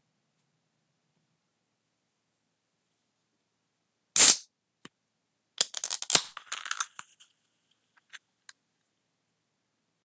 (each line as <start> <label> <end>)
4.2 Opening a soda can 4.4